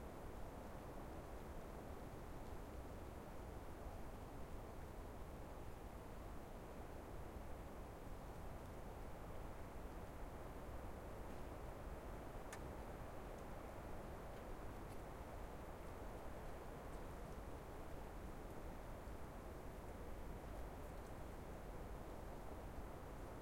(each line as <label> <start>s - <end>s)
winter windy forest 0.0s - 23.4s